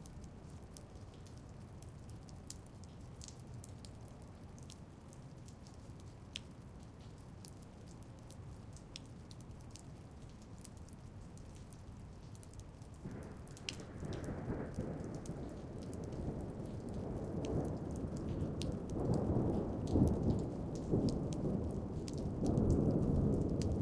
dripping rain 0.0 - 23.8
Thunder 13.0 - 23.8

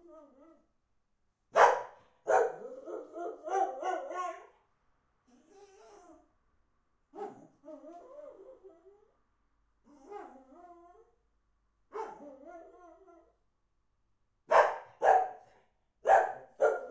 howl 0.0 - 0.7
bark 1.5 - 4.5
howl 2.5 - 4.6
howl 5.3 - 6.3
bark 7.1 - 7.5
howl 7.2 - 9.2
howl 9.9 - 11.2
bark 11.9 - 12.4
howl 12.0 - 13.4
bark 14.5 - 16.9

